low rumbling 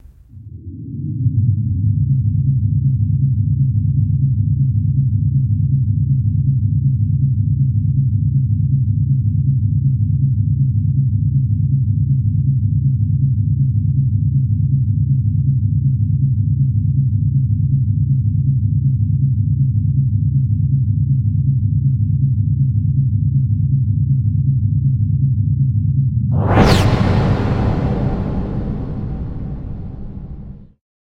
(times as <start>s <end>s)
26.4s 30.7s